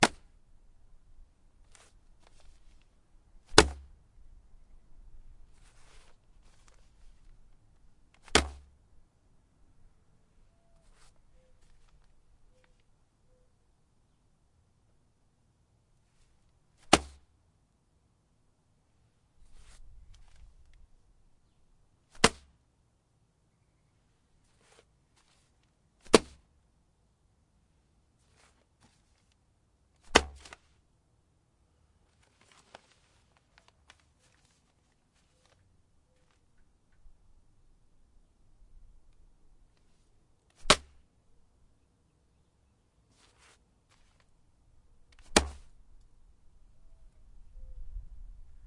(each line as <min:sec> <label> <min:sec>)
0:00.0 throwing a small package of newspapers onto a porch 0:00.3
0:01.6 throwing a small package of newspapers onto a porch 0:04.0
0:05.5 throwing a small package of newspapers onto a porch 0:08.7
0:10.7 throwing a small package of newspapers onto a porch 0:12.9
0:16.1 throwing a small package of newspapers onto a porch 0:17.3
0:19.4 throwing a small package of newspapers onto a porch 0:20.8
0:24.4 throwing a small package of newspapers onto a porch 0:26.5
0:28.2 throwing a small package of newspapers onto a porch 0:30.8
0:32.0 throwing a small package of newspapers onto a porch 0:36.6
0:39.7 throwing a small package of newspapers onto a porch 0:41.0
0:43.1 throwing a small package of newspapers onto a porch 0:44.4
0:45.1 throwing a small package of newspapers onto a porch 0:45.8